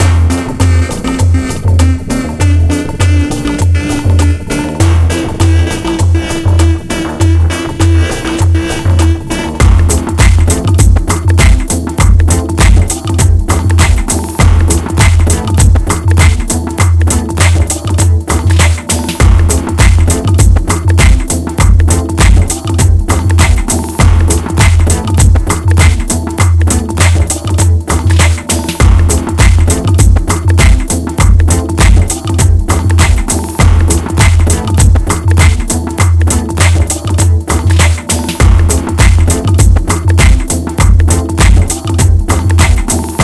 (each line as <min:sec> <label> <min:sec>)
0:00.0 bass 0:43.2
0:00.0 drum 0:43.2